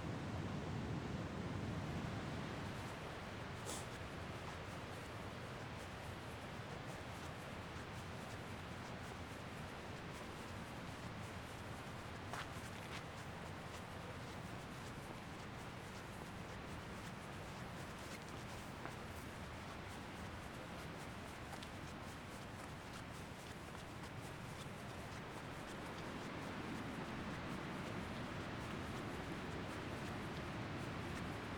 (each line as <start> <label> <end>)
11.3 Walking 31.5